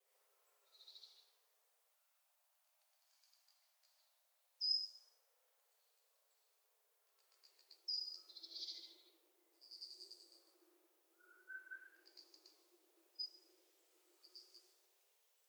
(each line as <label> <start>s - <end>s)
bird calls 11.2s - 12.5s